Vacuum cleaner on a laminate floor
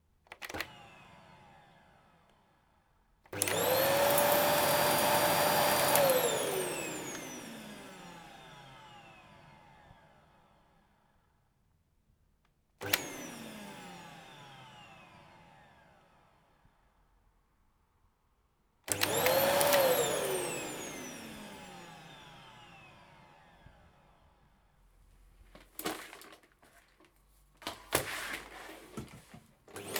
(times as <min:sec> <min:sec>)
0:00.3 0:02.7, 0:03.3 0:10.9, 0:12.8 0:16.8, 0:18.9 0:24.5, 0:27.6 0:29.9